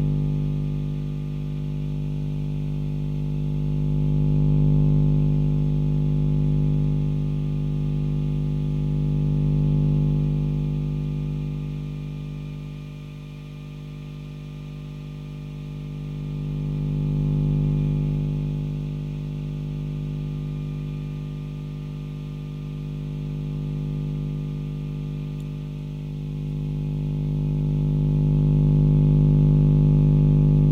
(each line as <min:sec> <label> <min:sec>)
0:00.0 electronic noise amplifier 0:30.7